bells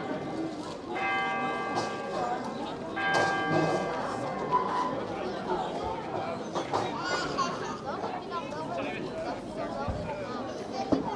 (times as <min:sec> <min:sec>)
0:00.0 0:05.0